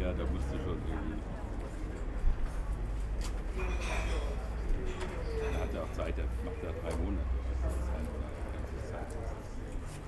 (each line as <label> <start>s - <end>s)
guests outside 0.0s - 10.0s